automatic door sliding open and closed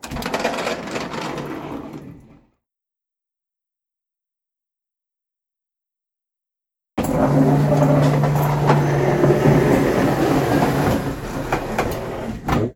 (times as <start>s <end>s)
0.0s 2.4s, 7.0s 12.7s